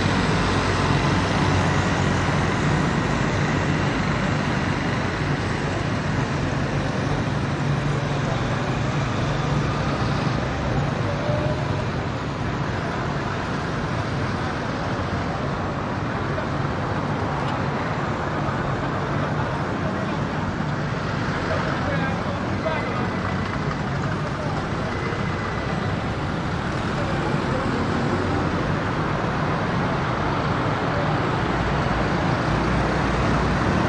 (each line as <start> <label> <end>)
0.0 scooters mopeds throaty dense semidistant 33.8
0.0 traffic heavy 33.8